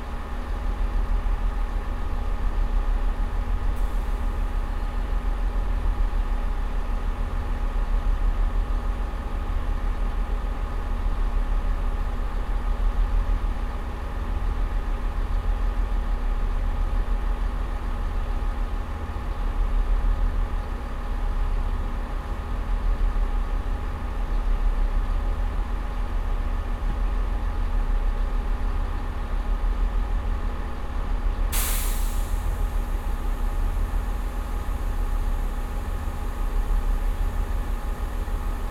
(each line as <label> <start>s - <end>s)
ticking over of the train engine 31.4s - 38.7s